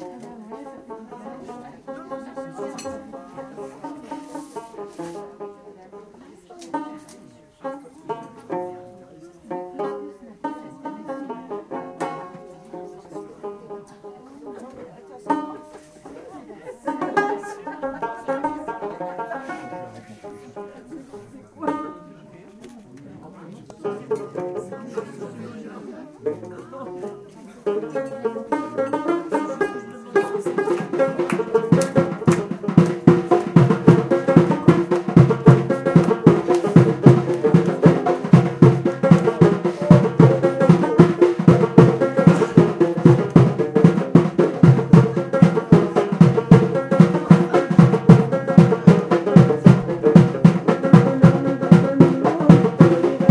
people chatting and eating 0:00.0 - 0:53.3
string instrument 0:00.0 - 0:53.3
taarija 0:00.0 - 0:53.3
darbuka 0:01.8 - 0:05.7
darbuka 0:06.7 - 0:08.9
darbuka 0:09.5 - 0:13.5
darbuka 0:16.8 - 0:20.4
darbuka 0:21.6 - 0:22.0
darbuka 0:27.8 - 0:53.3

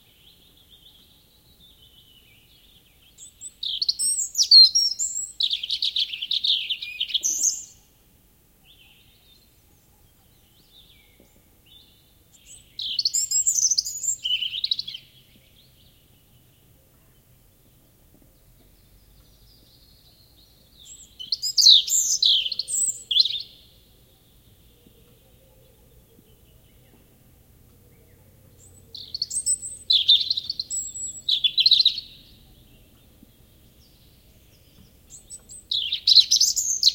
Robin, redbreast, clear song 0:00.0 - 0:36.9

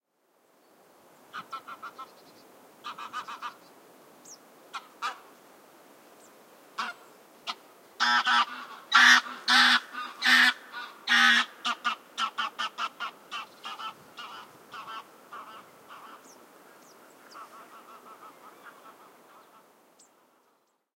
birdsong 0:15.6 - 0:20.9

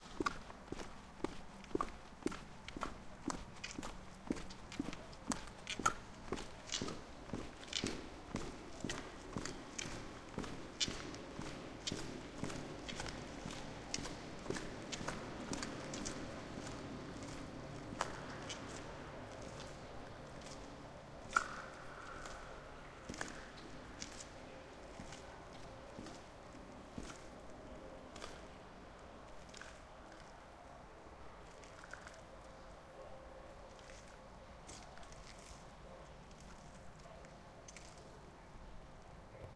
footsteps 0:00.0 - 0:28.5

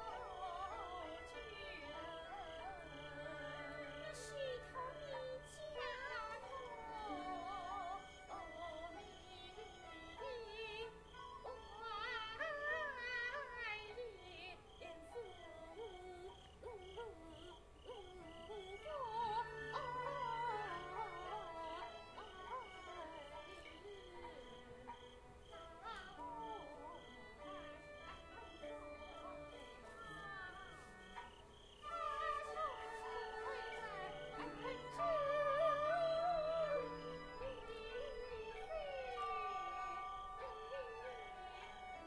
singing 0:00.0 - 0:42.0

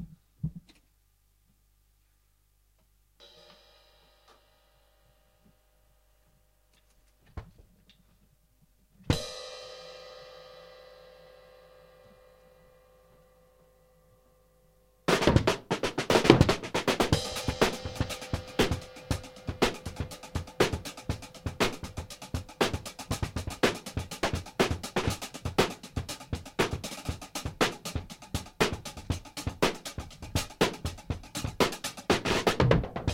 drum 0:15.1 - 0:33.1

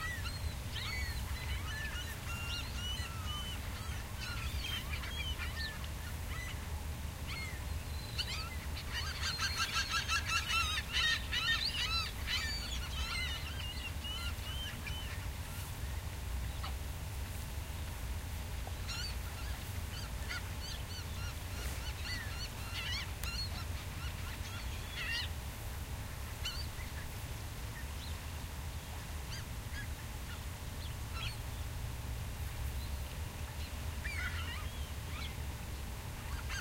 seagull 0:00.0 - 0:06.6
several species of birds calling 0:00.0 - 0:16.8
seagull 0:08.2 - 0:15.2
several species of birds calling 0:18.6 - 0:25.4
several species of birds calling 0:26.3 - 0:27.2
several species of birds calling 0:28.8 - 0:31.5
several species of birds calling 0:32.8 - 0:35.4
seagull 0:34.0 - 0:35.3
several species of birds calling 0:36.2 - 0:36.6
seagull 0:36.3 - 0:36.6

